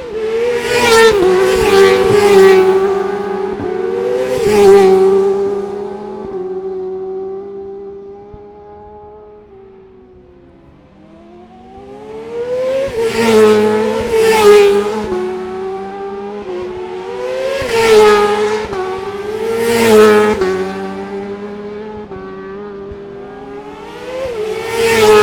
motorcycle road racing 0.0 - 25.2

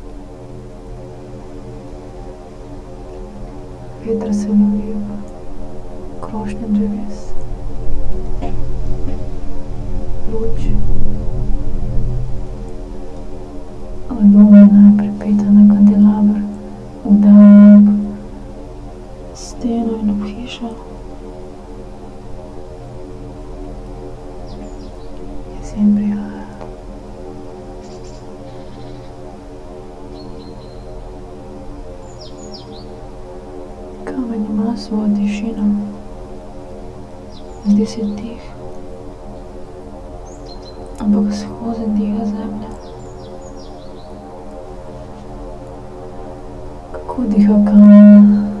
flies 0.0 - 48.6
wind 0.0 - 48.6
voices of a borehole 14.1 - 18.3
birds 24.3 - 25.8
birds 27.8 - 33.2
birds 37.2 - 38.6
voices of a borehole 37.6 - 38.6
birds 40.1 - 41.5
birds 42.2 - 44.4
voices of a borehole 47.0 - 48.6

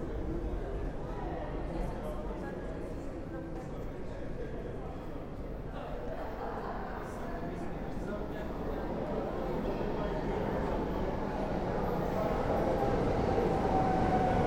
sounds of people in the space 0.0 - 14.4
trains arriving on more distant platforms 8.1 - 14.4
Metro train approaching 8.4 - 14.4

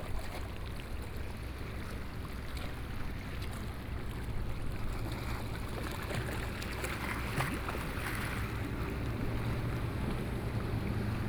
waves 0.0 - 11.2

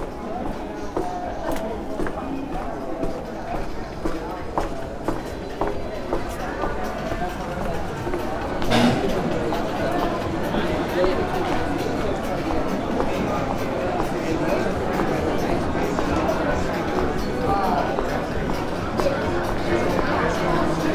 gravel path 0.0 - 20.6
people talking 0.0 - 20.9

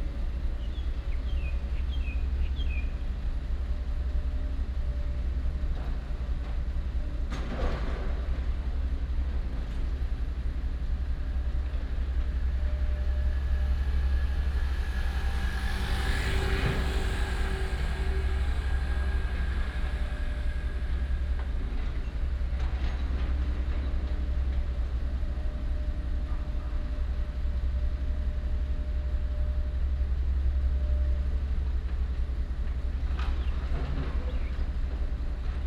traffic sound 8.6 - 35.6

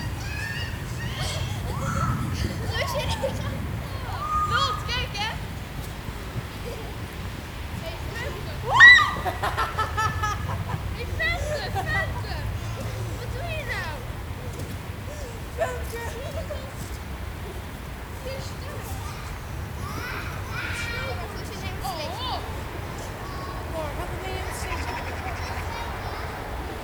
Kids playing in the snow 0.0 - 26.8
sledding 0.0 - 26.8

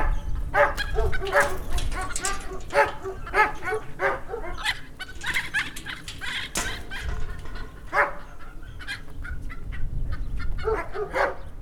kids chasing hens 0.0 - 11.5
dog 10.6 - 11.5

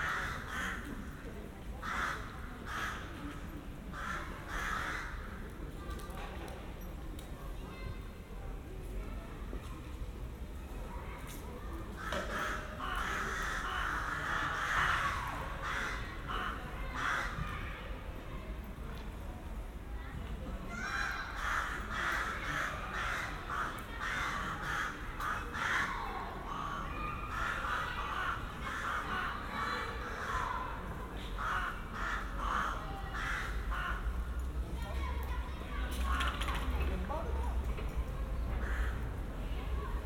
ravens 0.0 - 1.0
ravens 1.8 - 3.3
ravens 3.9 - 5.4
ravens 12.0 - 17.6
playing children 19.6 - 40.0
ravens 20.7 - 34.3
ravens 35.8 - 36.8
ravens 38.5 - 39.4

